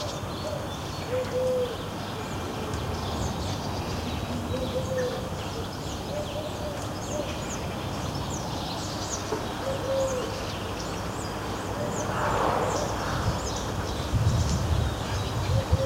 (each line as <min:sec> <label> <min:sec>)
0:00.0 collared doves 0:03.6
0:04.2 collared doves 0:07.7
0:08.4 collared doves 0:10.8
0:11.6 rooks 0:13.8